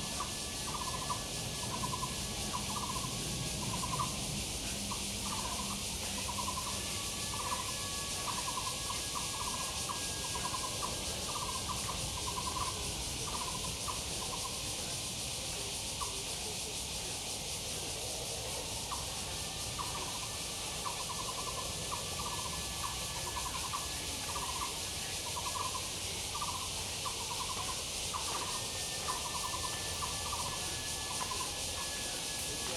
0.0s Bird calls 14.8s
0.0s Cicadas cry 32.7s
18.8s Bird calls 32.7s
24.9s elderly people doing exercise 32.7s

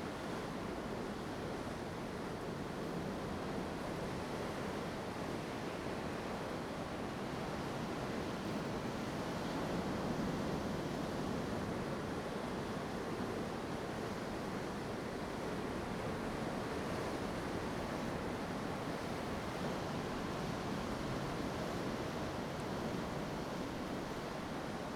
0.0s waves 24.9s

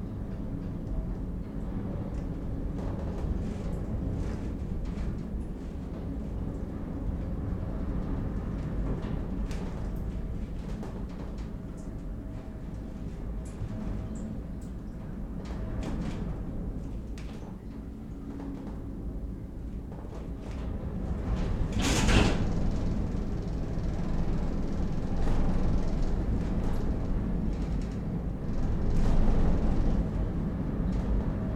19.8s roof bucking sounds from high winds 31.5s

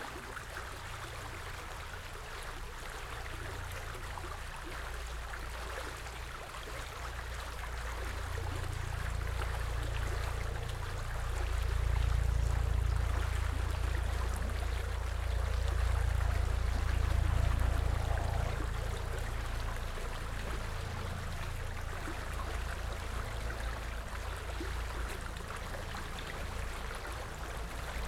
0.0s Gentle splashes and laps of the stream 28.0s
0.1s Helicopter engine appearing in the left channel 28.0s
8.2s car engine passes by 28.0s

